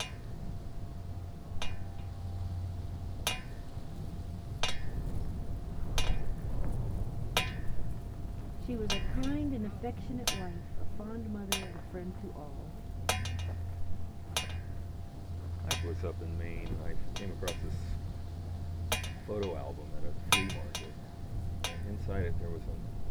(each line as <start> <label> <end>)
0.0 flagpole 23.1